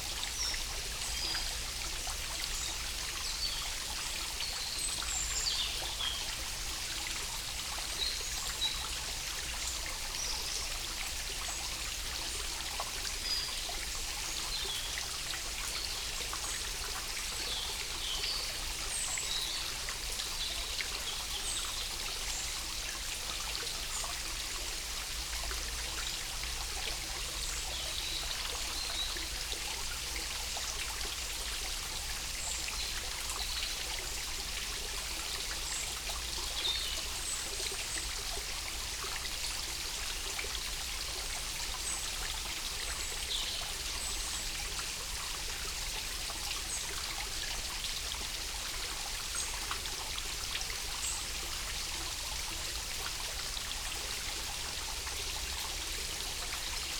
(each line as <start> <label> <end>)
0.0 tributary of a stream 56.9